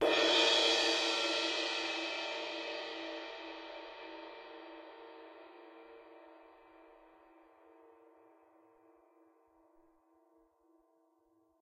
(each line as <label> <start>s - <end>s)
percussion 0.0s - 10.9s